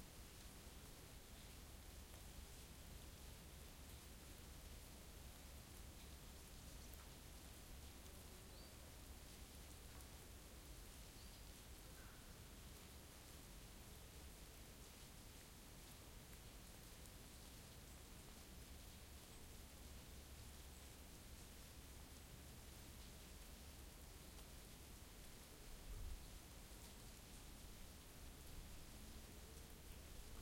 melting snow on the path 0:00.0 - 0:30.4

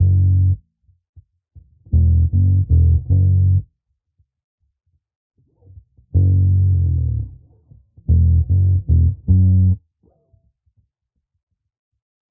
bass 0:00.0 - 0:00.6
bass 0:01.6 - 0:03.7
bass 0:05.6 - 0:09.8

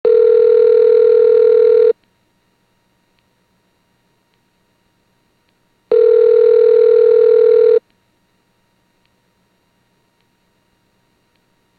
Phone Ringing 0:00.1 - 0:01.9
Phone Ringing 0:05.9 - 0:07.8

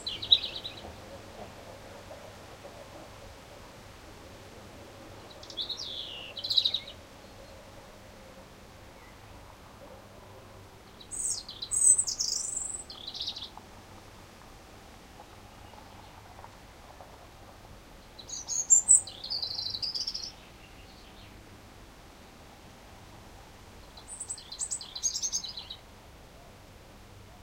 birds in the foreground 0:00.0 - 0:01.7
birds in the foreground 0:05.2 - 0:13.7
birds in the foreground 0:15.2 - 0:17.1
birds in the foreground 0:17.9 - 0:21.6
birds in the foreground 0:23.3 - 0:26.6

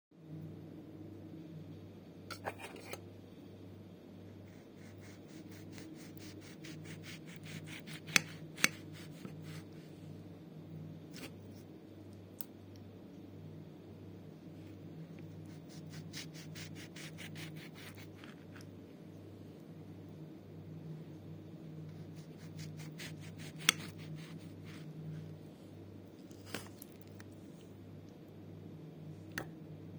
cutting a steak 0:04.5 - 0:09.7
cutting a steak 0:11.1 - 0:11.4
cutting a steak 0:15.3 - 0:18.6
cutting a steak 0:22.0 - 0:24.9
cutting a steak 0:26.2 - 0:27.3

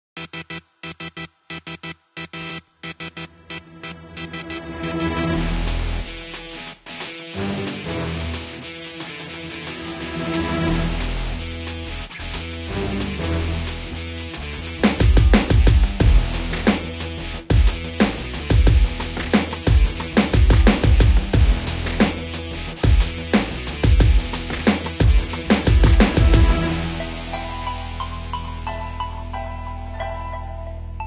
drums 0:05.4 - 0:27.8
orchestral elements 0:07.4 - 0:11.6
orchestral elements 0:25.1 - 0:31.0

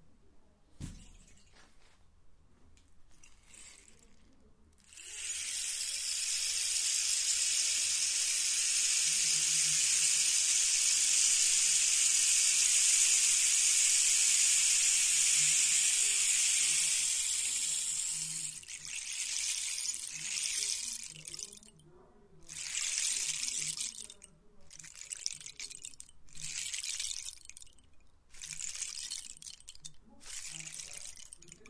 rainstick 0:03.1 - 0:31.6

